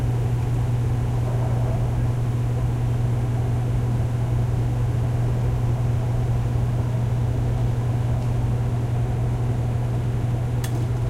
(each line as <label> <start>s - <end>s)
laundromat washer washing machine rumble3 0.0s - 11.0s